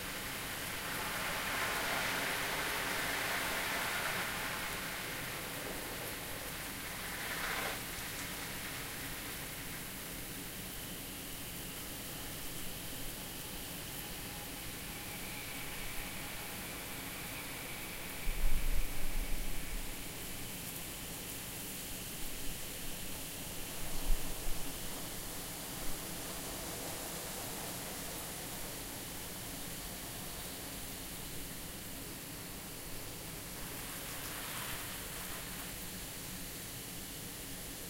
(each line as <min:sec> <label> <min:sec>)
0:00.0 sprinklers 0:37.8
0:12.2 Crickets 0:22.6